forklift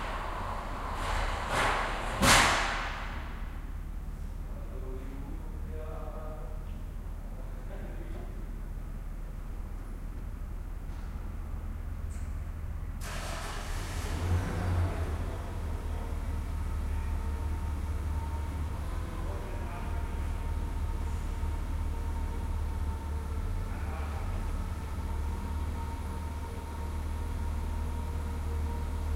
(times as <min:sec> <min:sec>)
0:00.0 0:04.4, 0:10.8 0:29.1